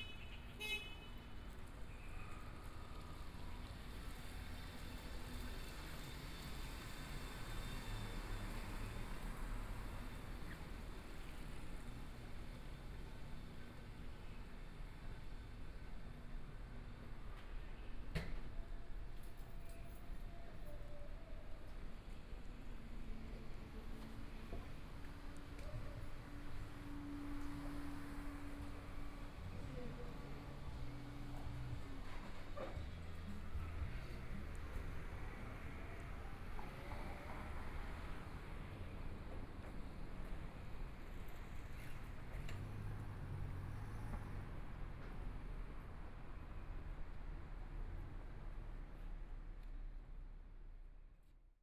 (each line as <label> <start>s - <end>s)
Traffic Sound 0.0s - 51.2s
walking in the Street 0.0s - 51.5s